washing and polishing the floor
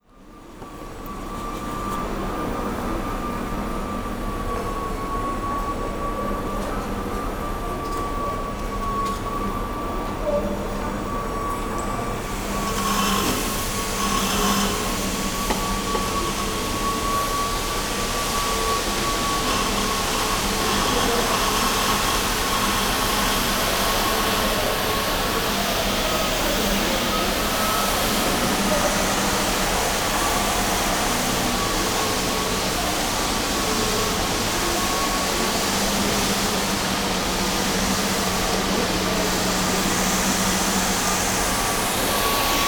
11.0s 42.6s

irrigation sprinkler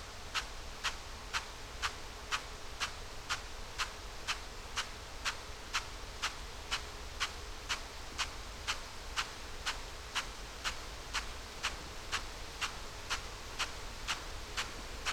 10.2s 15.1s

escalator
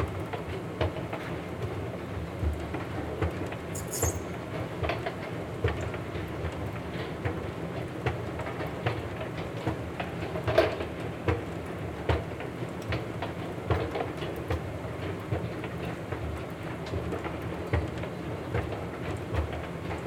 3.8s 4.3s

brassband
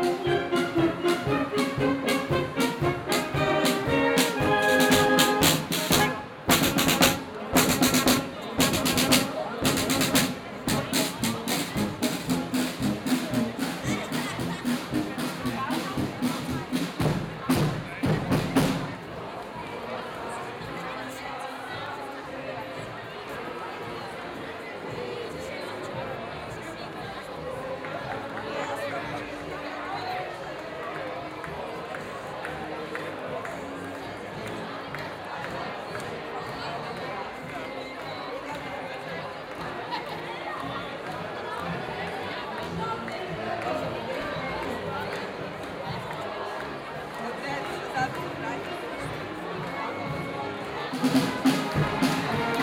0.0s 18.9s, 49.2s 52.6s

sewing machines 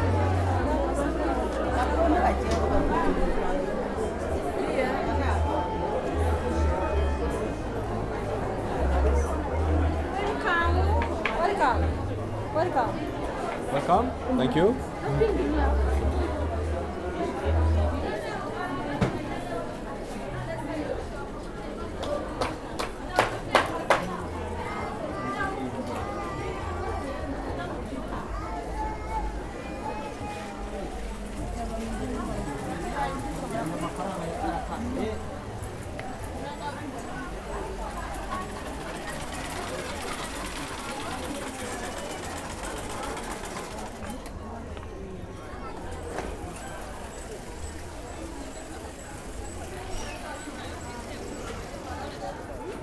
31.1s 44.4s, 45.8s 52.5s

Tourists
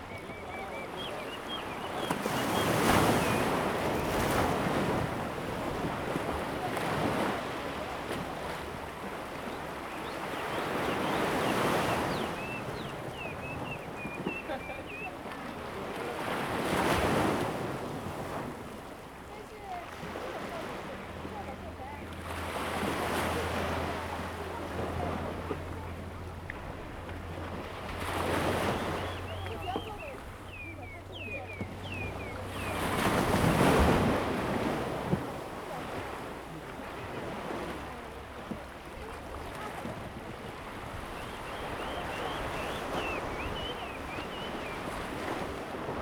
6.2s 17.3s, 24.2s 46.0s

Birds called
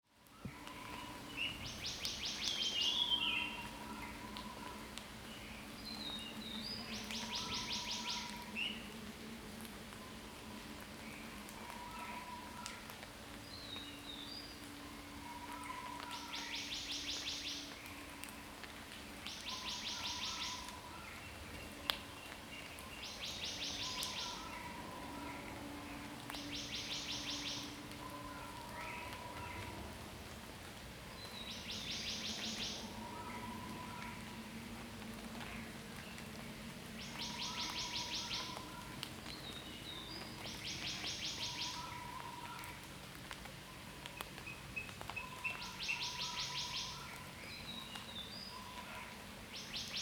37.0s 42.7s

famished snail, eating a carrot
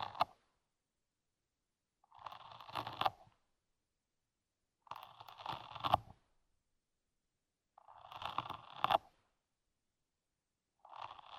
2.0s 3.4s, 4.8s 6.2s, 7.8s 9.3s, 10.8s 11.3s

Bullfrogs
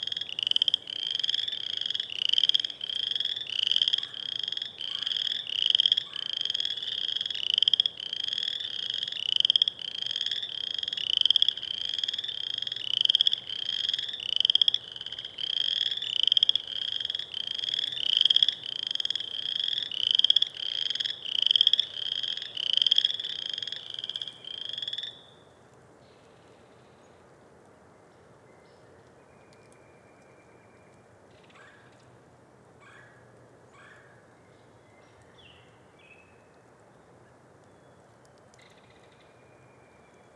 0.0s 25.3s

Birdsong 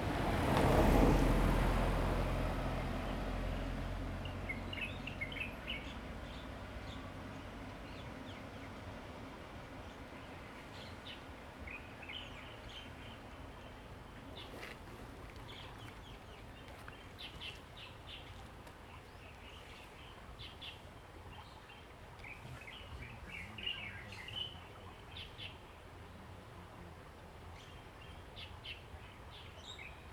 4.2s 8.8s

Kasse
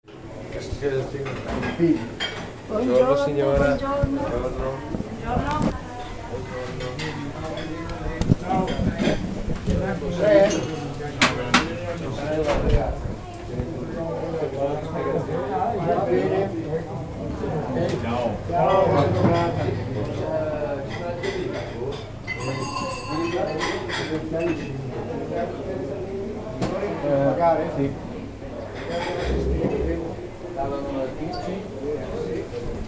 29.1s 30.4s

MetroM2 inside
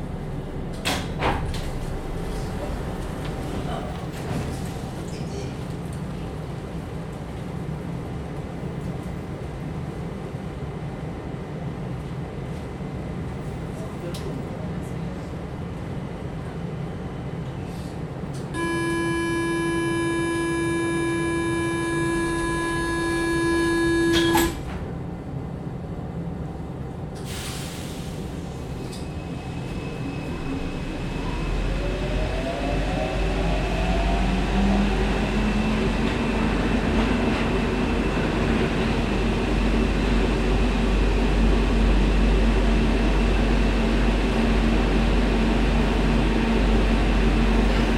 18.6s 24.4s

